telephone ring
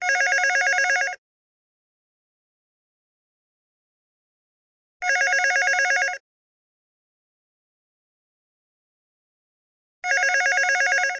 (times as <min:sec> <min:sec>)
0:00.0 0:01.2, 0:05.0 0:06.2, 0:10.0 0:11.1